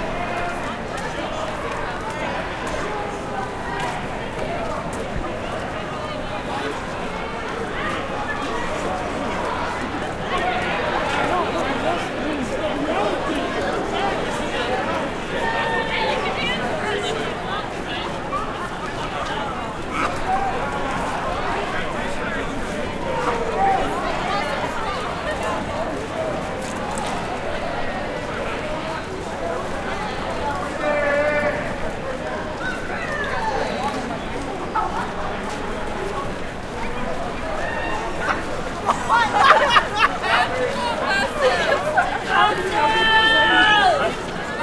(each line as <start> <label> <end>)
0.0 crowd ext medium drunk 44.6